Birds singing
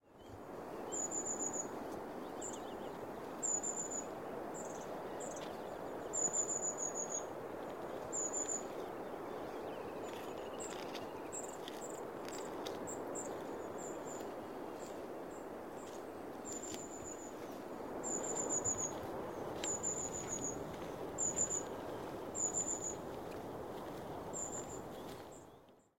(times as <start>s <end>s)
8.1s 23.0s, 24.4s 25.7s